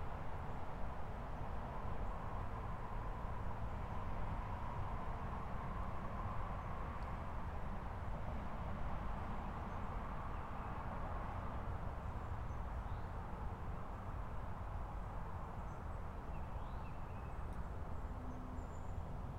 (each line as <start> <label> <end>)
17.0 traffic sounds 19.3